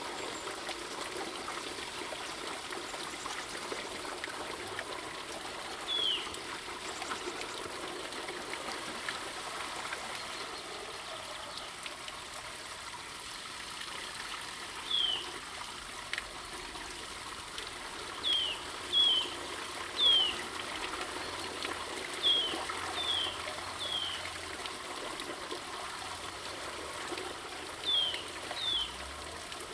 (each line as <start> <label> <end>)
0.0 water running from the spring 29.7